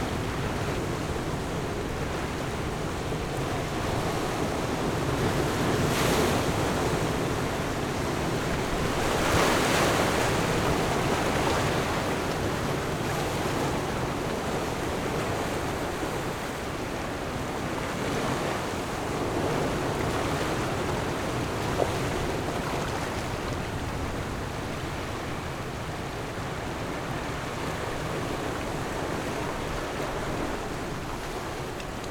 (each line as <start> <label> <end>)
0.0 waves 32.1